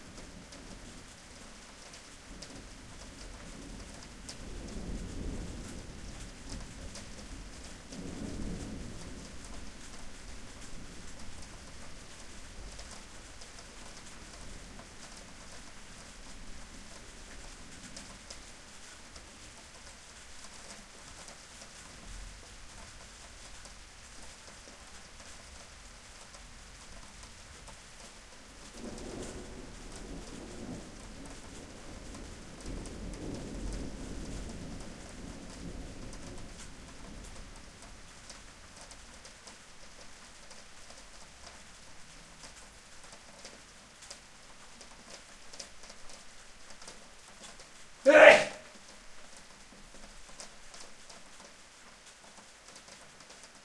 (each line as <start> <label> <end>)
4.5 thunder 9.7
28.7 thunder 37.2